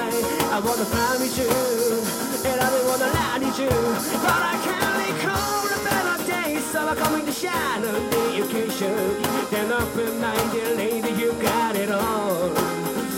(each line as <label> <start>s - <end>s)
Music from a band in the street singing in English 0.0s - 13.1s